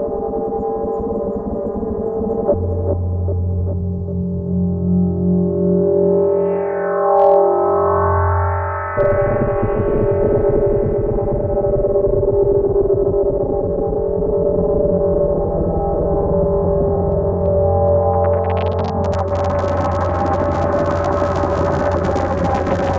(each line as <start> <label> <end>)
17.9 impression of fire 22.9